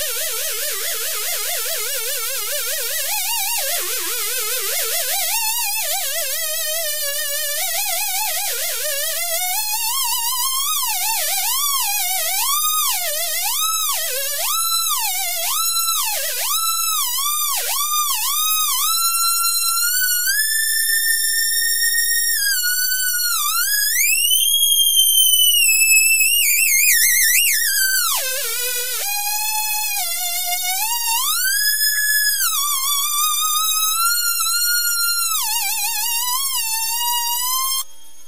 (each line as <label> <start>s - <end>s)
circuito 0.0s - 38.2s